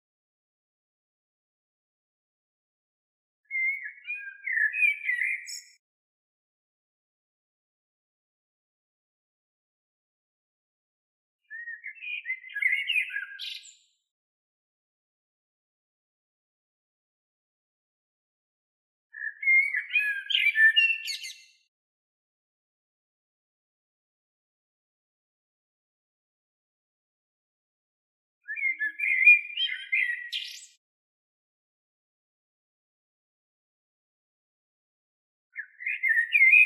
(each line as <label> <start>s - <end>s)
blackbird 3.4s - 5.8s
blackbird 11.4s - 14.0s
blackbird 19.1s - 21.7s
blackbird 28.4s - 30.8s
blackbird 35.5s - 36.6s